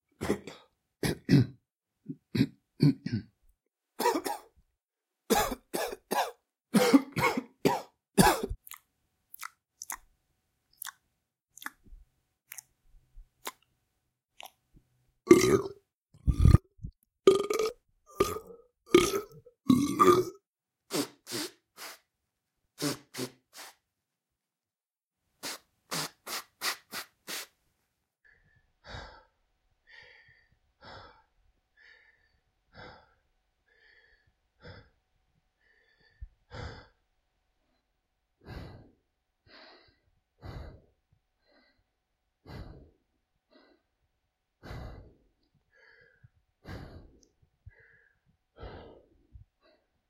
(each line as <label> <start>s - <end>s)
coughing 0.2s - 3.4s
coughing 4.0s - 4.5s
coughing 5.3s - 8.6s
chewing 8.6s - 10.1s
chewing 10.8s - 11.0s
chewing 11.6s - 11.8s
chewing 12.5s - 12.7s
burping 15.3s - 16.7s
burping 17.3s - 20.4s
breathing 28.2s - 35.0s
breathing 35.6s - 37.0s
breathing 38.4s - 44.0s
breathing 44.6s - 50.0s